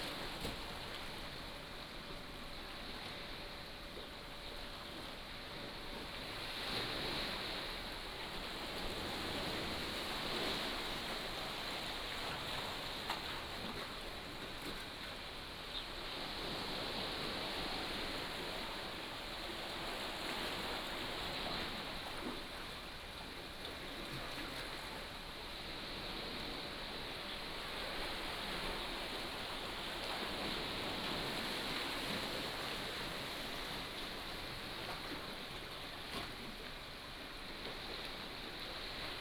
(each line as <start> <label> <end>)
0.0 Waves and Tide 39.2